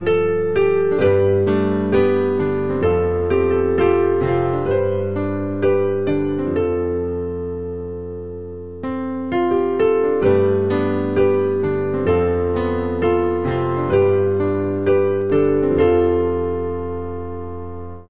Piano Piece 0:00.0 - 0:18.0

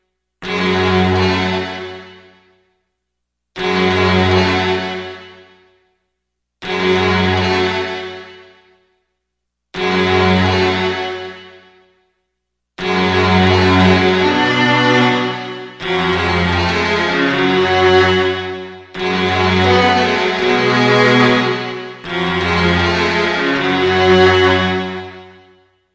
Decadent strings intro 0:13.2 - 0:25.2

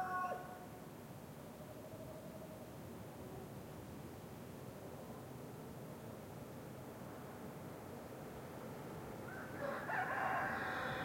roosters at different distance 0:04.6 - 0:11.0

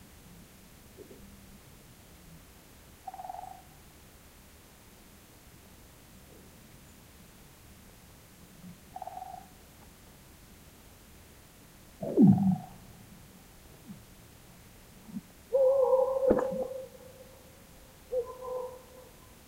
woodpecker 0:15.6 - 0:16.9
dog 0:18.1 - 0:19.3

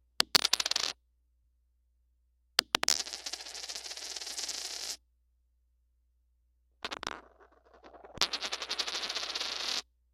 dropping a coin 0:00.2 - 0:01.0
coin twirl 0:00.3 - 0:01.0
dropping a coin 0:02.6 - 0:05.0
coin twirl 0:02.8 - 0:05.0
dropping a coin 0:06.8 - 0:09.8
coin twirl 0:06.9 - 0:09.8

